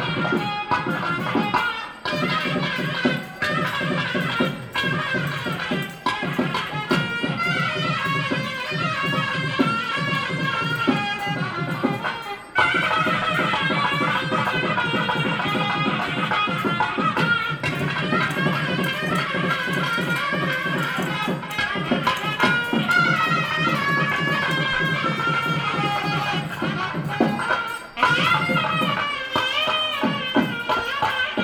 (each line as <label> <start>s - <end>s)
Women are gathered behind the carriage pushing and chanting 0.0s - 31.4s